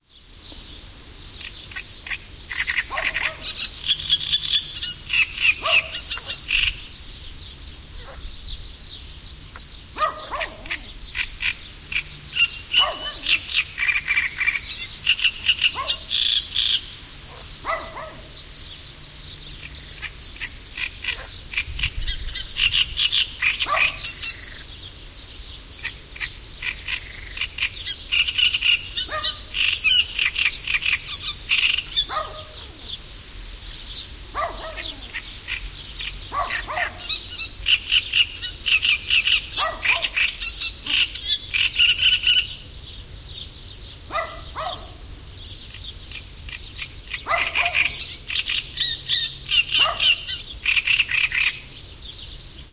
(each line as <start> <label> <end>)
0.0 birds 52.7
1.4 frog 6.8
2.9 dog 3.5
5.6 dog 6.4
8.0 dog 8.2
10.0 dog 10.9
10.2 frog 18.2
12.8 dog 13.4
15.7 dog 16.1
17.3 dog 18.3
19.7 frog 24.7
23.6 dog 24.0
25.8 frog 32.8
29.1 dog 29.4
32.1 dog 32.7
34.4 dog 35.1
34.4 frog 42.5
36.3 dog 37.2
39.6 dog 40.2
44.1 dog 45.0
47.3 dog 48.0
49.8 dog 50.2